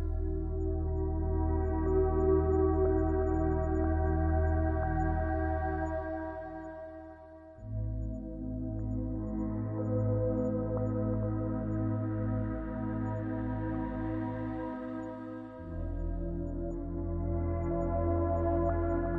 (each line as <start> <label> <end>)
0.0 synthesizer 19.1